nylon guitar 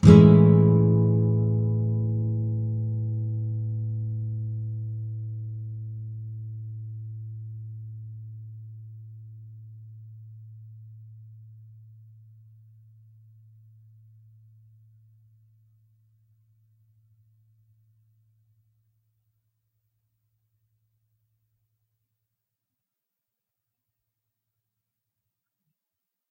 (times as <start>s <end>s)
0.0s 15.5s